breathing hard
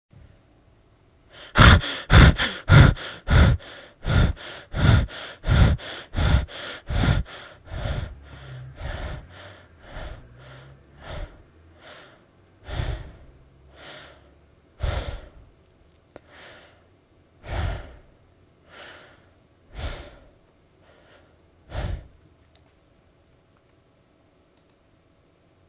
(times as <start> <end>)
1.3 15.5, 16.2 22.2